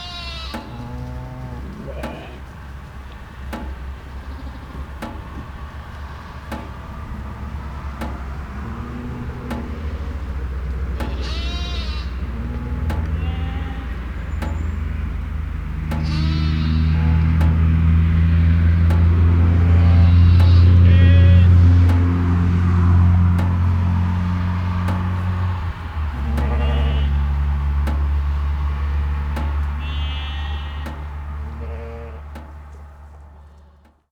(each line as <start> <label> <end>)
0.0 sheep 3.2
0.0 single car driving by 34.0
0.0 electric fence generator 34.0
11.0 sheep 14.4
15.9 sheep 17.5
19.1 sheep 21.6
26.1 sheep 27.4
29.4 sheep 34.0